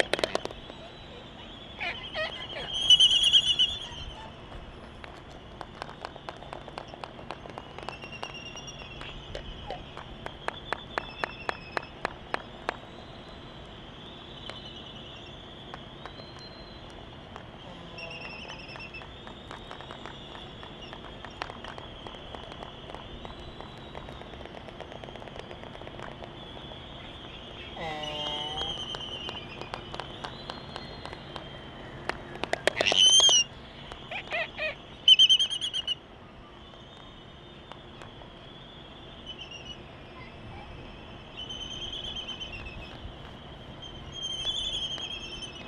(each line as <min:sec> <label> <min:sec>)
0:00.0 Laysan albatross dancing 0:36.0